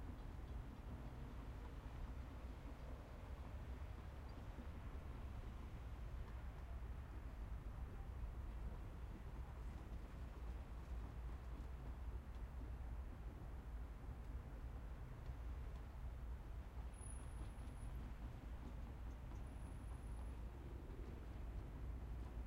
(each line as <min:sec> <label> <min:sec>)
0:00.0 long freight train 0:22.4